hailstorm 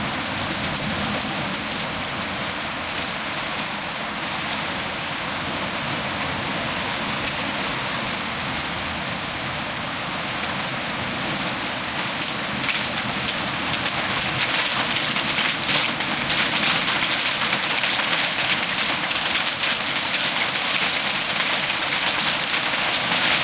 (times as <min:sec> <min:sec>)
0:11.9 0:23.4